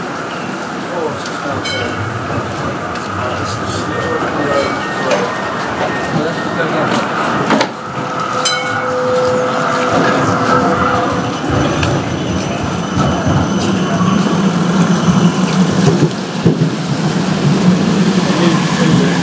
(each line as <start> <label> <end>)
0.0 traffic 19.2
0.0 trams 19.2
0.7 people 15.7